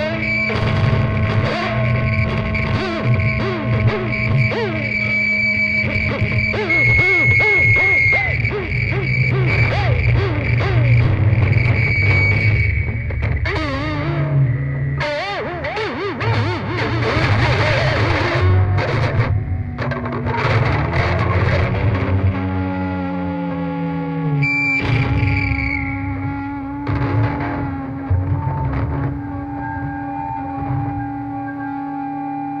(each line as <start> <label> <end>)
0.0 feedback 32.6
0.0 Smashing guitars 14.4
15.0 Smashing guitars 22.7
24.8 Smashing guitars 29.9